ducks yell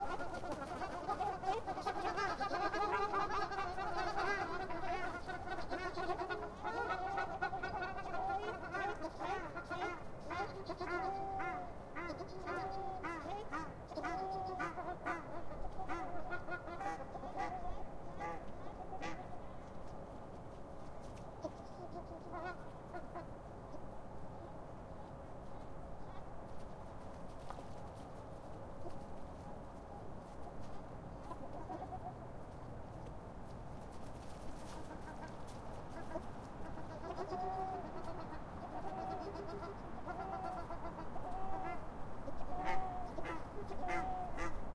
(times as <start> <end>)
0.0 19.3, 35.9 44.6